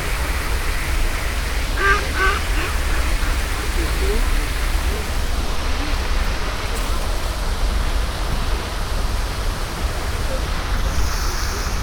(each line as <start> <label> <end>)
0.0 water spraying and floating 11.8
1.7 ducks cackle 4.6
1.8 two old men feeding the ducks are talking 5.2